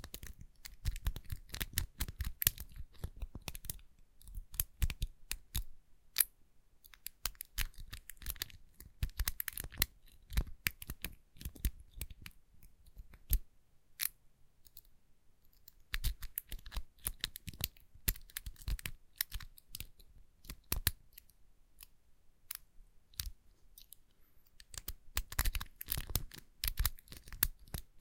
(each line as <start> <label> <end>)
24.6 Pad lock being picked 27.8